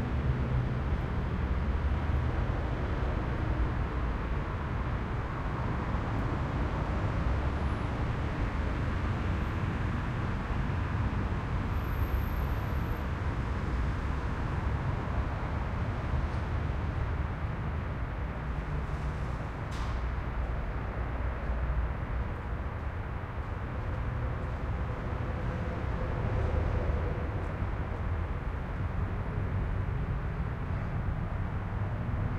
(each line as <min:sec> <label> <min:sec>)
0:00.0 traffic 0:32.3